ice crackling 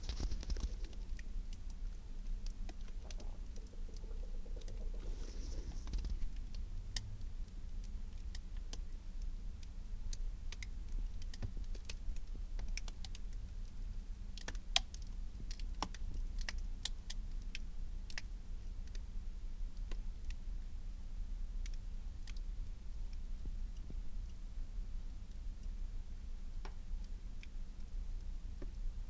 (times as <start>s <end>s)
0.0s 1.2s, 2.4s 6.5s